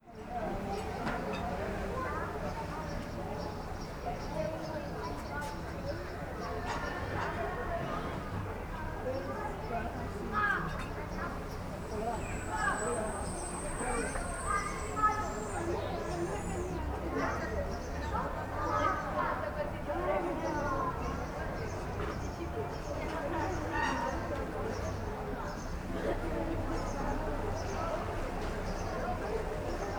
0.0s voices of adults and children 29.9s
9.1s sparrows 19.2s
20.3s sparrows 25.9s
26.6s sparrows 29.9s

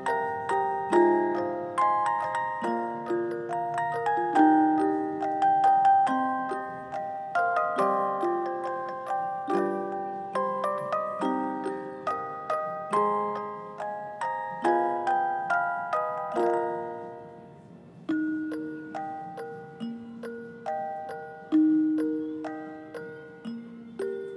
0.0s Music Box 24.3s

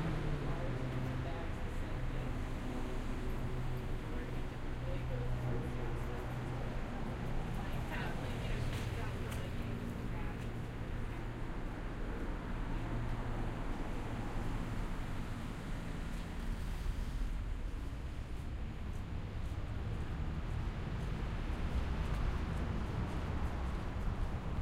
0.2s conversations 15.6s

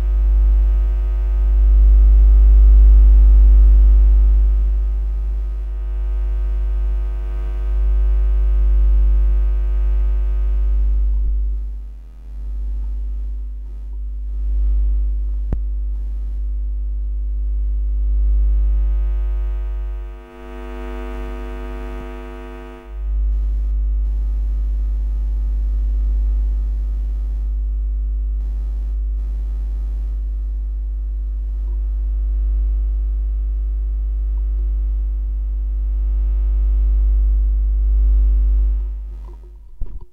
0.0s noise and hum from my computer 40.1s

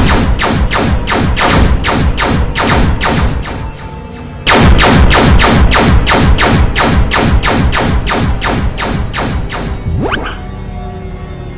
0.0s shots 10.4s
2.4s sirens 4.5s
8.6s sirens 11.5s

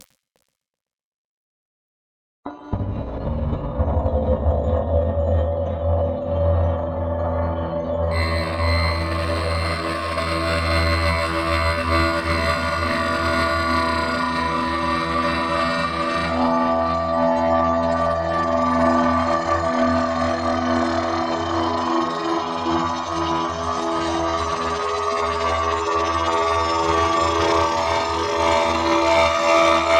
0.0s glitch 0.5s
2.6s drone 29.9s

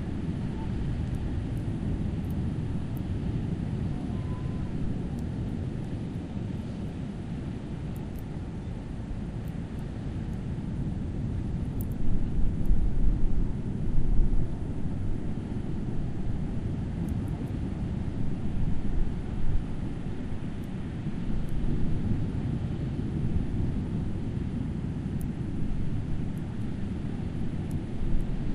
0.0s wind 28.5s

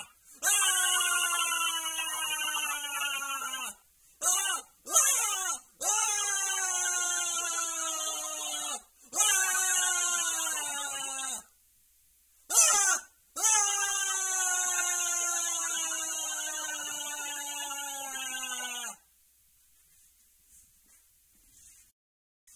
0.0s scream man 11.5s
12.5s scream man 19.0s

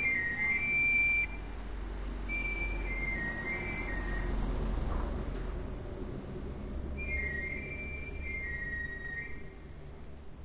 0.0s whistle sound is made by a man 1.6s
2.2s whistle sound is made by a man 4.4s
7.0s whistle sound is made by a man 9.7s

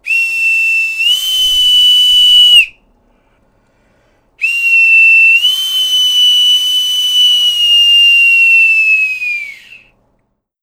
0.0s bosun whistle 2.8s
4.4s bosun whistle 10.0s

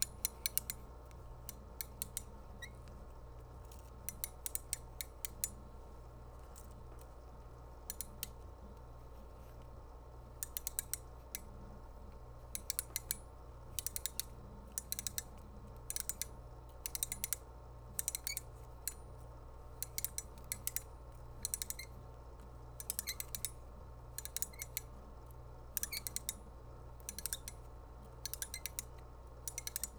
18.0s mechanical winch winding up with some squeaking 18.5s
21.4s mechanical winch winding up with some squeaking 22.0s
22.8s mechanical winch winding up with some squeaking 23.5s
24.2s mechanical winch winding up with some squeaking 24.8s
25.8s mechanical winch winding up with some squeaking 26.3s
27.1s mechanical winch winding up with some squeaking 27.5s
28.2s mechanical winch winding up with some squeaking 28.9s
29.5s mechanical winch winding up with some squeaking 29.9s

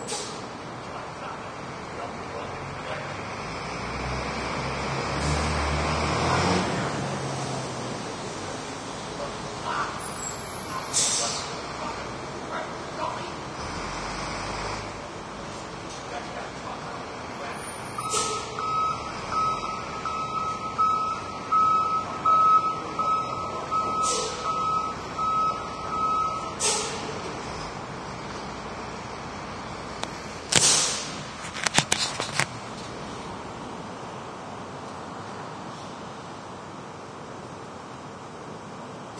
0.0s trucks squeak brakes 0.5s
9.8s trucks squeak brakes 12.1s
17.4s trucks squeak brakes 29.1s
30.5s trucks squeak brakes 31.4s

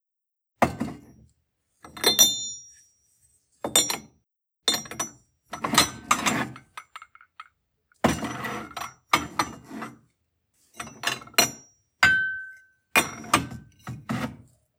11.4s Porcelain clinks 13.2s
13.2s drawer 14.5s

